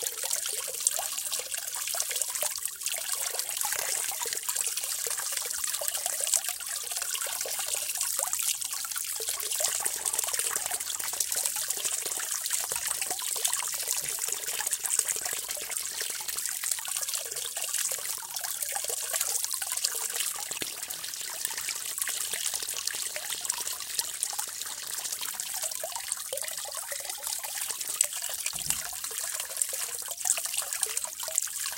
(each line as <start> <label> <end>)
0.0 Water runs through the grating into a kind of drainage well 31.7